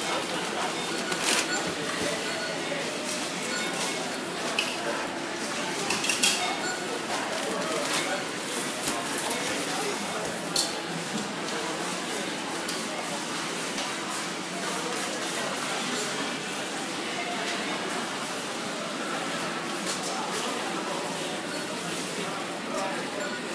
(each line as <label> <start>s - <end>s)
people 0.0s - 23.5s
self service checkouts 0.0s - 23.5s